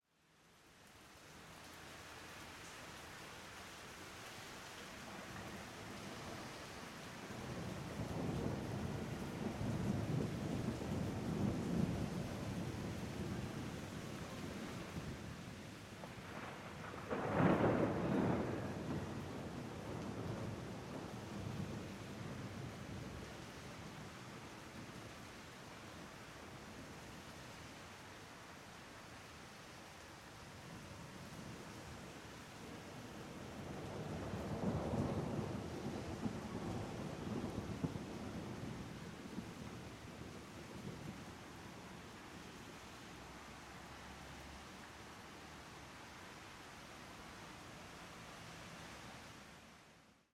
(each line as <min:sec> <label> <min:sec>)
0:00.0 rain 0:50.3
0:07.4 storm 0:25.0
0:30.7 storm 0:42.1